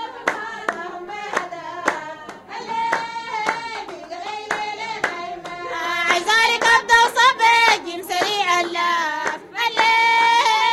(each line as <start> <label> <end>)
0.2 clapping 10.7